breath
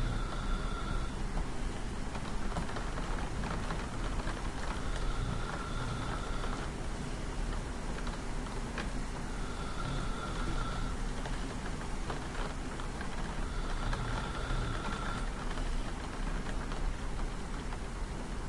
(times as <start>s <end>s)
0.0s 1.2s, 4.7s 6.7s, 9.3s 11.0s, 13.2s 15.5s